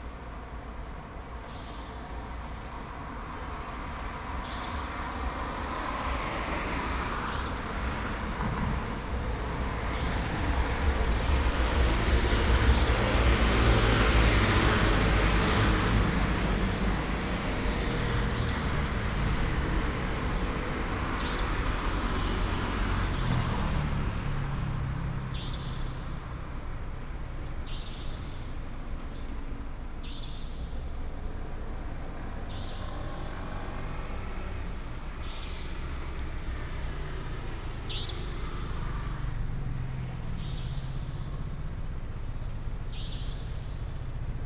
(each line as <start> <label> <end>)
0.0 Traffic sound 44.4